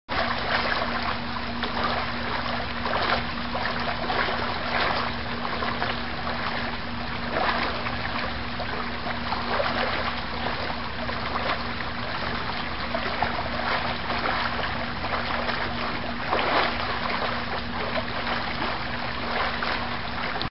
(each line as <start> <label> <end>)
0.1 flood 20.5